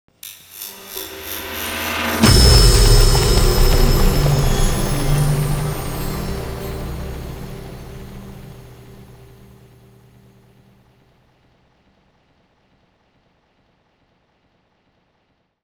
magical spell burst 0:00.2 - 0:10.4

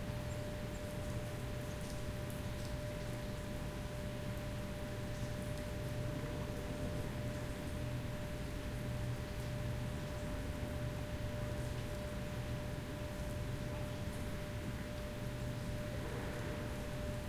raining 0:01.3 - 0:17.2

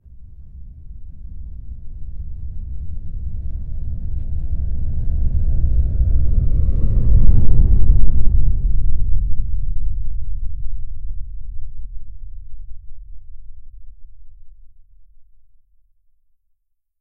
Large Low Rumble Passing 0:00.0 - 0:14.7

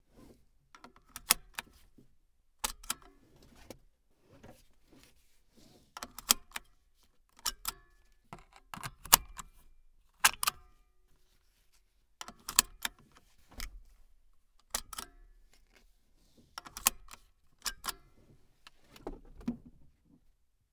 click sounds of a seatbelt being locked and unlocked 0:00.8 - 0:01.8
click sounds of a seatbelt being locked and unlocked 0:02.6 - 0:03.7
click sounds of a seatbelt being locked and unlocked 0:06.0 - 0:06.7
click sounds of a seatbelt being locked and unlocked 0:07.4 - 0:07.8
click sounds of a seatbelt being locked and unlocked 0:08.4 - 0:09.6
click sounds of a seatbelt being locked and unlocked 0:10.2 - 0:10.7
click sounds of a seatbelt being locked and unlocked 0:12.2 - 0:13.9
click sounds of a seatbelt being locked and unlocked 0:14.6 - 0:15.6
click sounds of a seatbelt being locked and unlocked 0:16.6 - 0:18.1

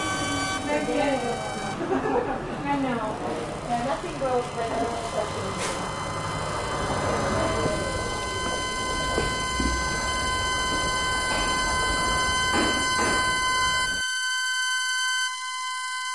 voice 0:00.6 - 0:06.0
voice 0:07.0 - 0:09.1

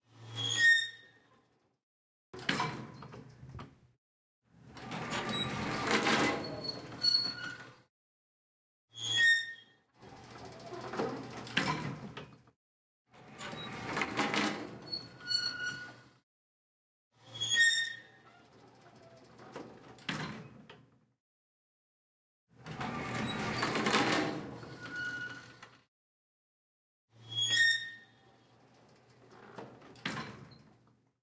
Elevator Doors 0:04.8 - 0:07.7
Elevator Doors 0:22.6 - 0:25.6

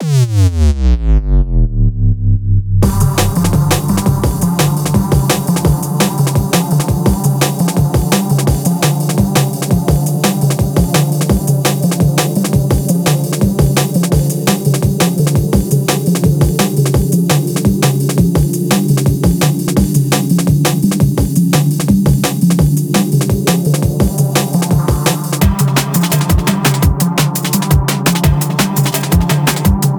synth 0:01.1 - 0:20.9
sampled style midi sequenced bass 0:01.1 - 0:29.9
chopped broken beats 0:02.8 - 0:29.9
off-time percussion 0:02.8 - 0:29.9

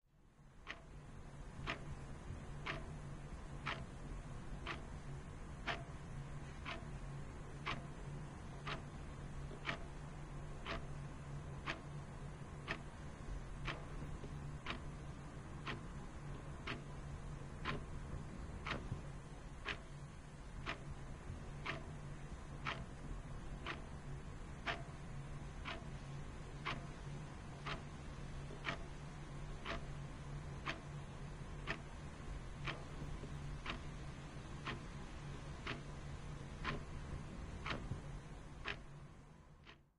white noise 0:00.1 - 0:39.9
clock tik tak 0:28.6 - 0:28.9

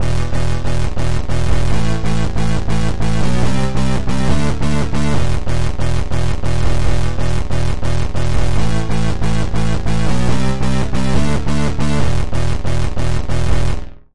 real wobble flat tune 0:00.0 - 0:13.9

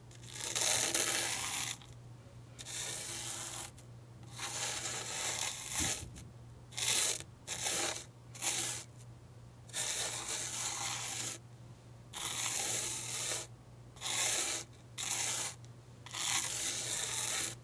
drawing in sand 0:00.2 - 0:01.8
drawing in sand 0:02.6 - 0:06.0
drawing in sand 0:06.8 - 0:08.9
drawing in sand 0:09.7 - 0:11.4
drawing in sand 0:12.2 - 0:17.6

